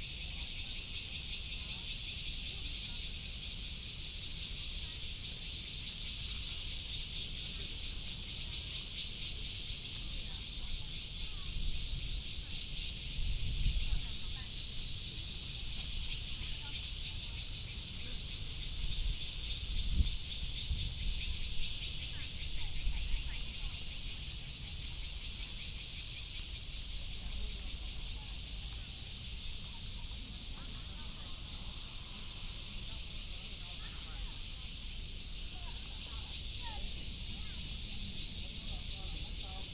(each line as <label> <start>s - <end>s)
Cicada sound 0.0s - 39.7s